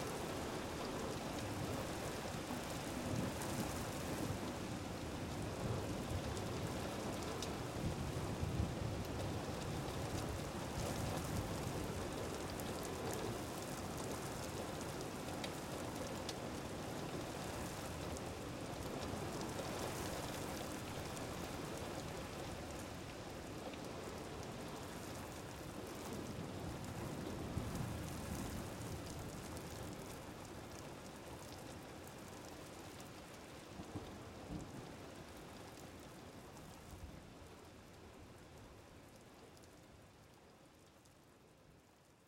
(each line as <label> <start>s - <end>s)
windy storm 0.0s - 39.6s
heavy rain wind, on roof 0.0s - 42.2s